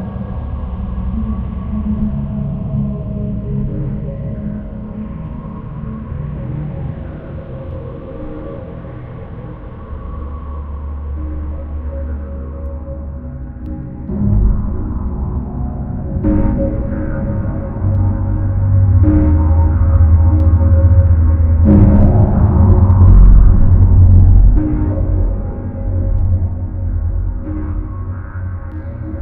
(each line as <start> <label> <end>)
0.0 Trippy Drone 29.2
16.1 crackle 29.2